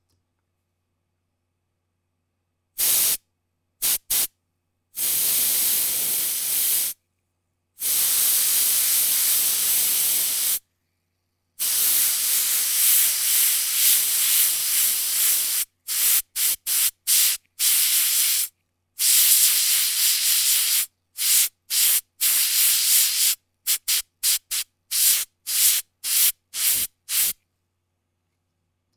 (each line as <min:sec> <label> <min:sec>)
0:02.8 Spray Can 0:03.2
0:03.8 Spray Can 0:04.3
0:05.0 Spray Can 0:07.0
0:07.8 Spray Can 0:10.6
0:11.6 Spray Can 0:27.4